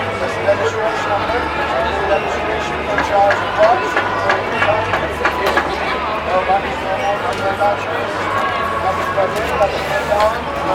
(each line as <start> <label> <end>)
0.0 chatter 10.7